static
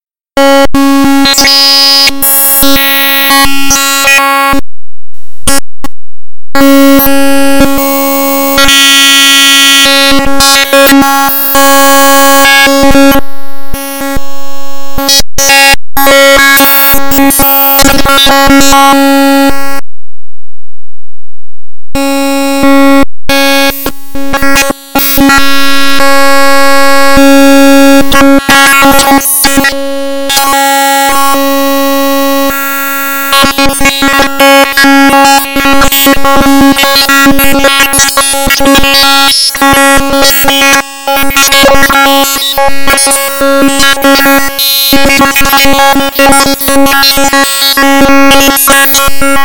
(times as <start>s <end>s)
28.8s 49.4s